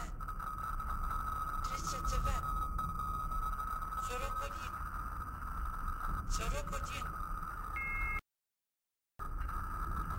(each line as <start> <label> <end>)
0.0 background sounds 8.2